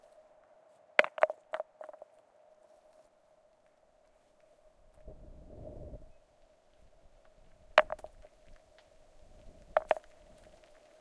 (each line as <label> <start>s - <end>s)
small rock hitting other small rocks 1.0s - 2.1s
small rock hitting other small rocks 7.6s - 8.6s
small rock hitting other small rocks 9.4s - 11.0s